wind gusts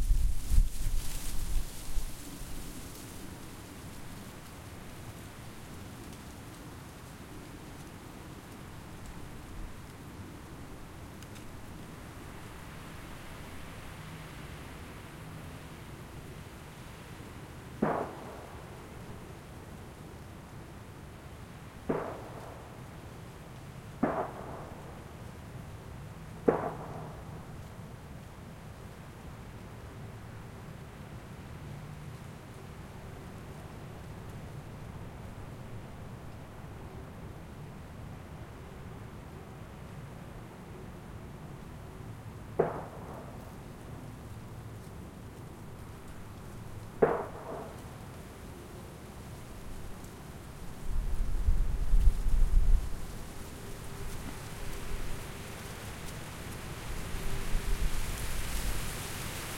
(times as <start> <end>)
0.0 5.8, 48.5 59.5